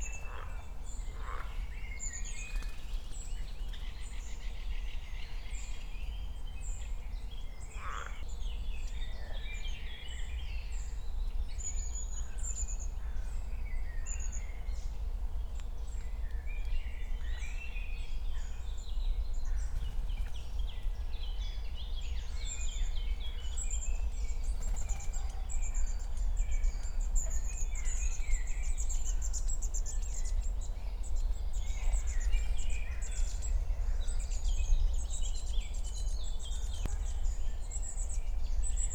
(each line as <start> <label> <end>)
0.2 crows 1.6
7.8 crows 8.2
22.4 other birds 38.0